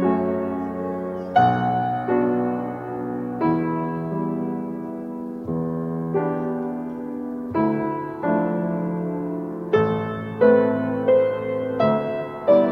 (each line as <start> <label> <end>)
0.0 playing the piano 12.7